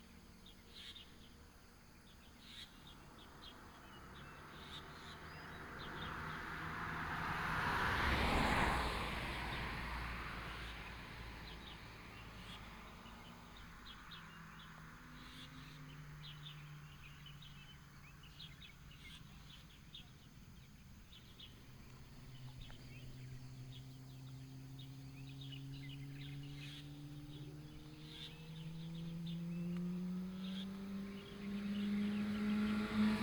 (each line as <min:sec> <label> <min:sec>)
0:00.0 birds 0:33.2